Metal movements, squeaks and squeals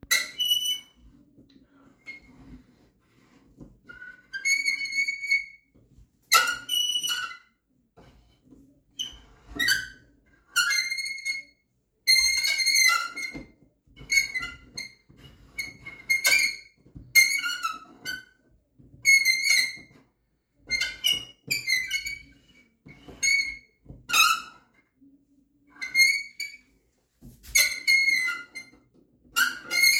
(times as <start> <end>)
0.0 1.1, 3.8 5.6, 6.3 7.5, 9.0 11.5, 12.1 18.4, 19.0 20.0, 20.6 24.8, 25.7 26.7, 27.5 29.9